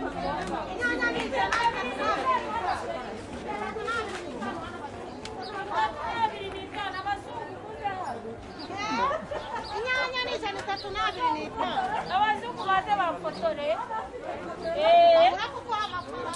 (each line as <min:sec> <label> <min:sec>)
0:00.0 voices 0:16.3
0:03.9 birds 0:16.3
0:08.8 laughs 0:10.0